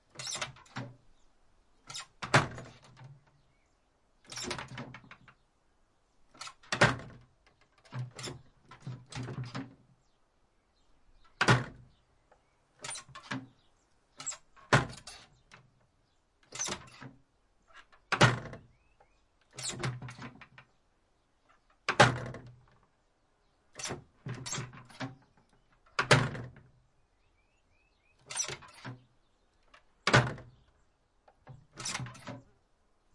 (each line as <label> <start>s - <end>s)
wood shutter outer door with antique handle slam closed 0.1s - 1.0s
wood shutter outer door with antique handle slam closed 1.8s - 3.2s
wood shutter outer door with antique handle slam closed 4.3s - 5.4s
wood shutter outer door with antique handle slam closed 6.3s - 9.8s
wood shutter outer door with antique handle slam closed 11.2s - 11.9s
wood shutter outer door with antique handle slam closed 12.8s - 13.6s
wood shutter outer door with antique handle slam closed 14.2s - 15.7s
wood shutter outer door with antique handle slam closed 16.4s - 17.1s
wood shutter outer door with antique handle slam closed 17.7s - 18.8s
wood shutter outer door with antique handle slam closed 19.5s - 20.6s
wood shutter outer door with antique handle slam closed 21.8s - 22.7s
wood shutter outer door with antique handle slam closed 23.7s - 26.8s
wood shutter outer door with antique handle slam closed 28.2s - 29.1s
wood shutter outer door with antique handle slam closed 29.8s - 30.6s
wood shutter outer door with antique handle slam closed 31.4s - 32.5s